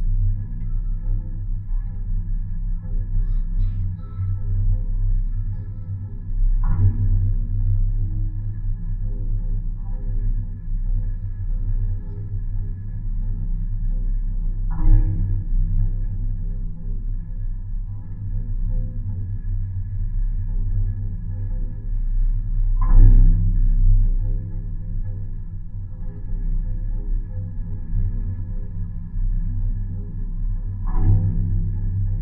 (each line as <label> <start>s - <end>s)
pole drone 0.0s - 32.2s